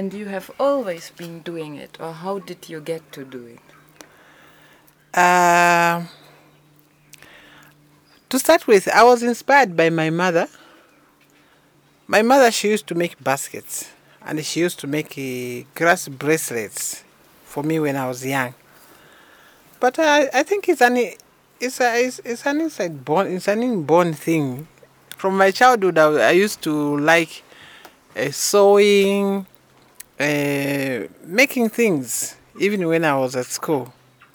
conversation 0.0 - 34.0

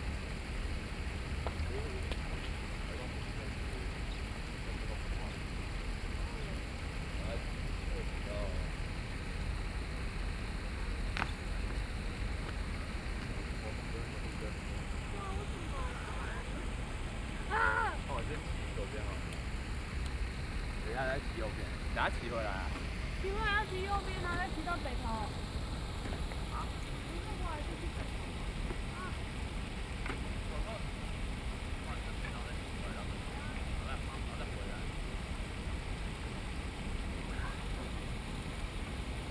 Running sound 0.0 - 39.3
water 0.0 - 39.3
Traffic Sound 7.4 - 30.4

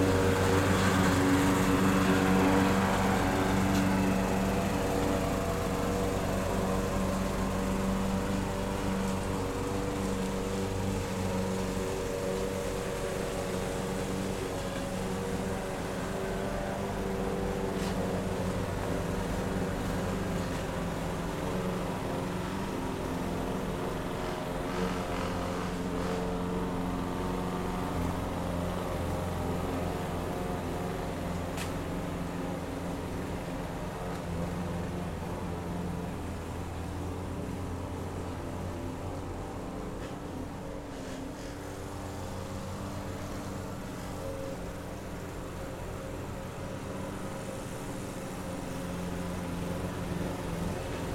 Power mower noise 0.0 - 51.1

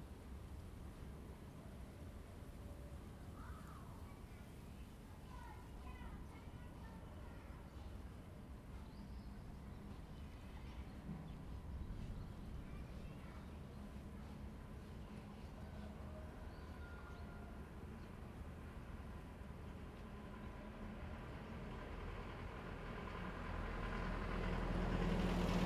The train runs through 9.5 - 25.6
Traffic sound 17.5 - 25.6

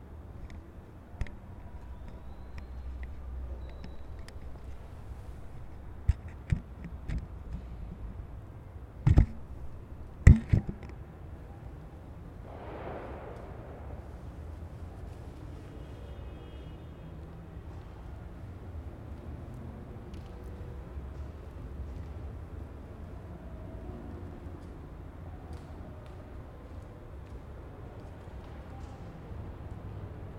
resonancia de sonidos del exterior 0.0 - 30.3

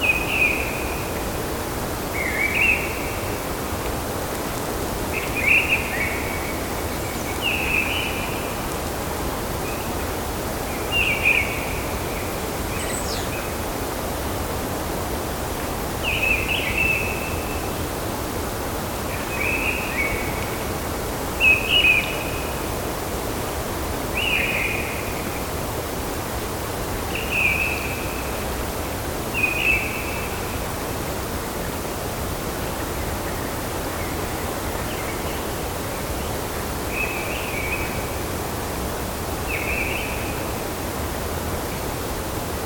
Mistle Thrush 0.0 - 1.5
Mistle Thrush 2.1 - 3.5
Mistle Thrush 5.1 - 8.6
Mistle Thrush 10.7 - 13.6
Mistle Thrush 16.0 - 17.9
Mistle Thrush 19.1 - 20.7
Mistle Thrush 21.4 - 22.7
Mistle Thrush 24.1 - 25.5
Mistle Thrush 27.1 - 28.4
Mistle Thrush 29.3 - 30.6
Mistle Thrush 36.2 - 38.2
Mistle Thrush 39.5 - 40.6

